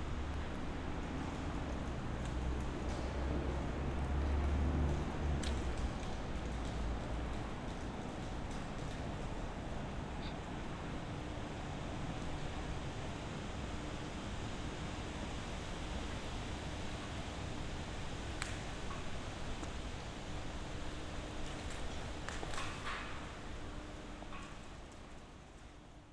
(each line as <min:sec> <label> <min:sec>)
0:00.0 hum of surrounding traffic 0:19.5